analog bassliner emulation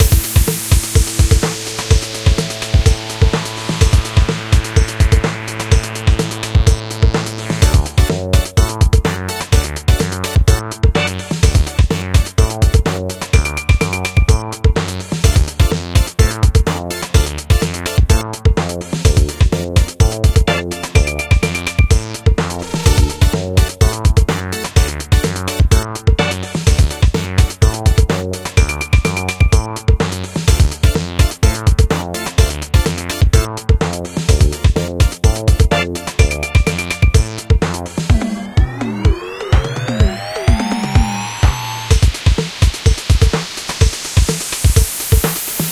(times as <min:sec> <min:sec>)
0:22.0 0:24.1, 0:38.1 0:42.0